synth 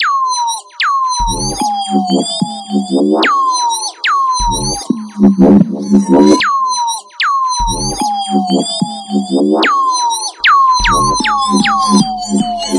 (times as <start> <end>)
4.4 6.4, 7.6 12.7